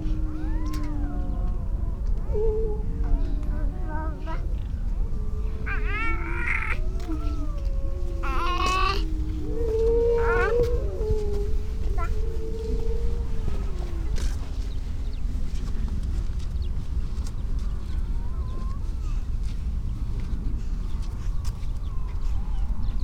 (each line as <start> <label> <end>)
0.0 curlew 15.2
0.0 robin 15.8
0.0 grey seals 23.0
5.6 starling 9.4